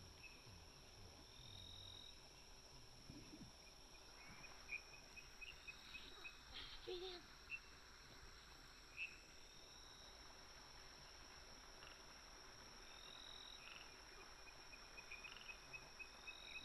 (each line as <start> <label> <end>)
0.0 Frogs chirping 10.4
11.0 Frogs chirping 16.6